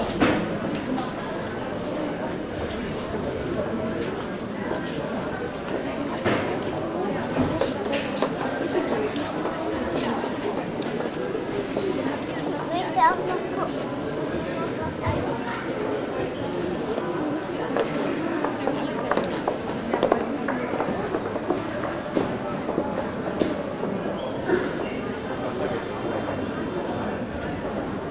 steps 0.0 - 15.8

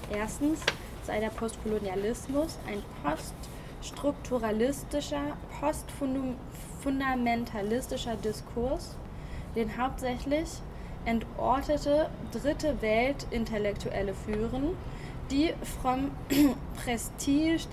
reading group 0.0 - 17.7

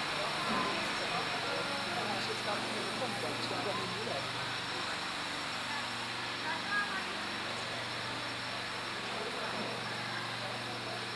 Several voices from visitors 0.1 - 11.1

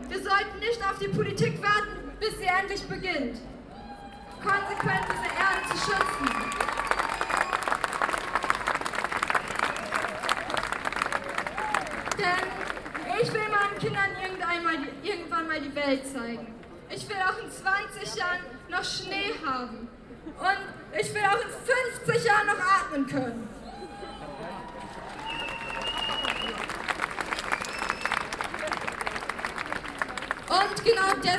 speeches 12.1 - 23.5
speeches 30.4 - 31.3

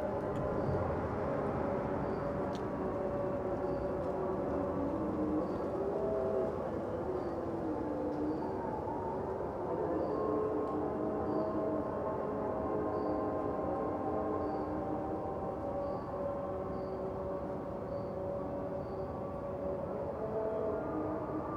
prayers singing 0.0 - 21.5

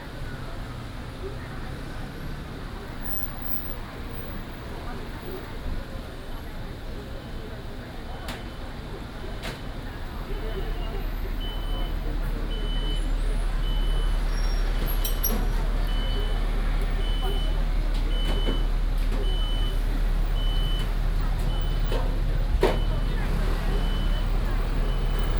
Traffic Sound 8.3 - 25.3

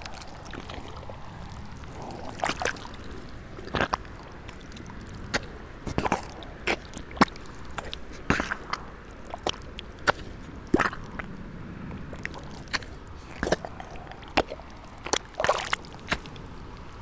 feet, gravel-stones, mud 0.0 - 17.0
river 0.0 - 17.0

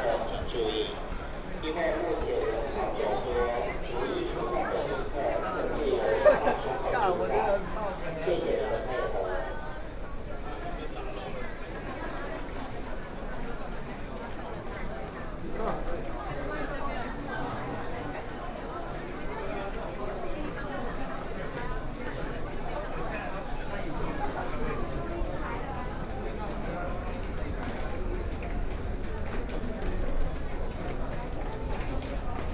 Crowds 0.0 - 11.1

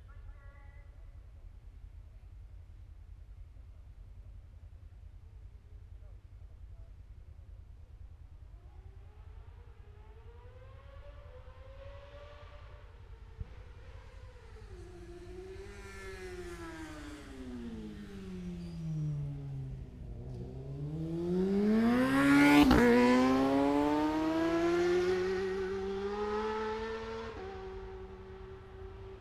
Motorcycle Road Racing 6.2 - 29.2

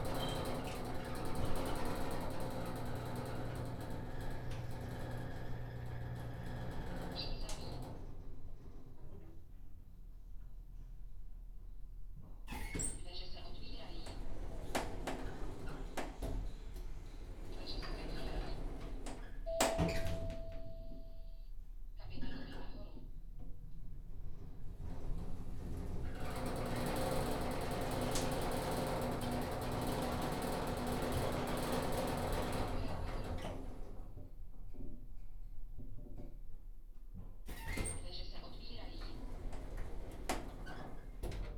riding the elevator 0.0 - 21.3
riding the elevator 22.2 - 34.5
riding the elevator 37.4 - 41.5

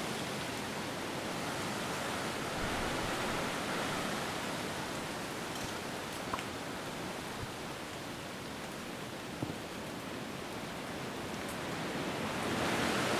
Gusts of wind 0.0 - 13.1
raining 0.0 - 13.1

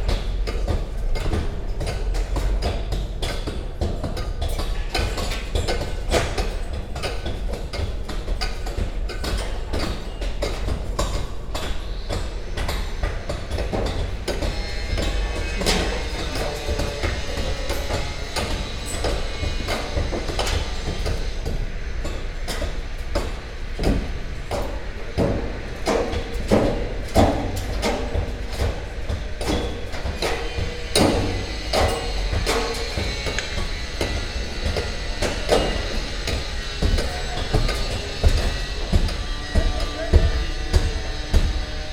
hammering of an old facade 0.0 - 41.9

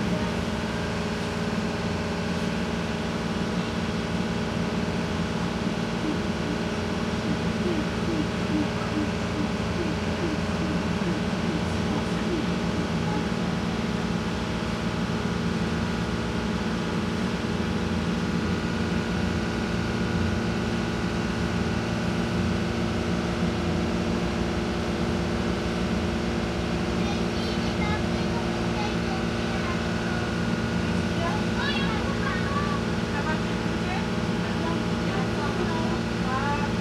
motor 0.0 - 19.7
little girl speak in french 27.0 - 29.8

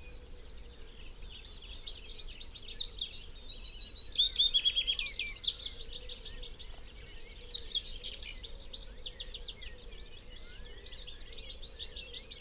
background noise 0.0 - 12.4

